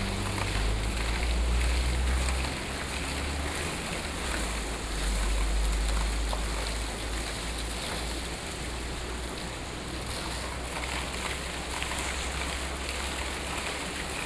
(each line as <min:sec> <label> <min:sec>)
0:00.0 Traffic Sound 0:11.3
0:00.0 Waterwheel 0:14.2